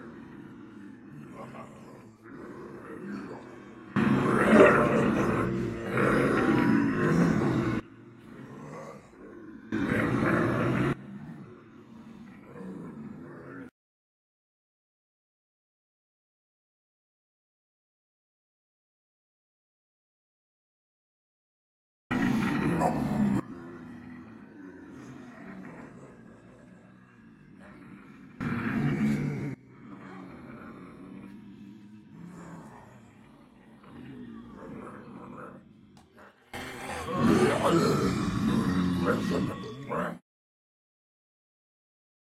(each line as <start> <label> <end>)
0.0 people pretending to be zombies 13.7
22.1 people pretending to be zombies 40.2